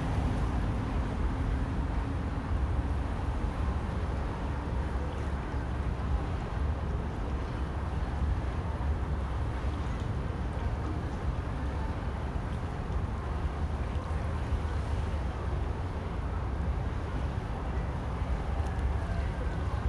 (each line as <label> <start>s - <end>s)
Han river 0.0s - 19.8s